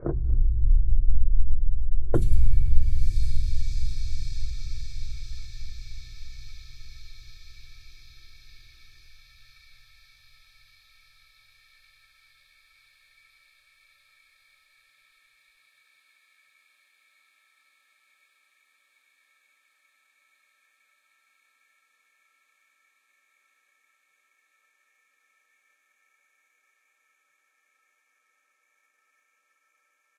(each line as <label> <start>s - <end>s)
dark toms 0.0s - 9.3s